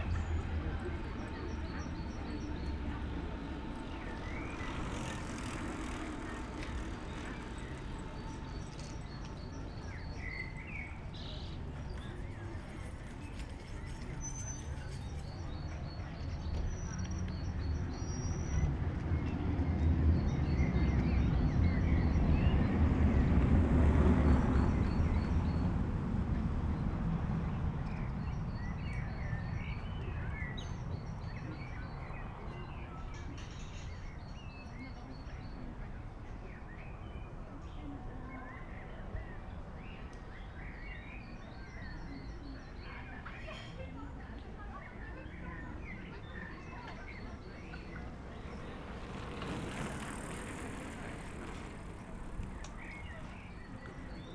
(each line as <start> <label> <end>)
0.0 many cyclists passing by 54.3
0.0 trains above 54.3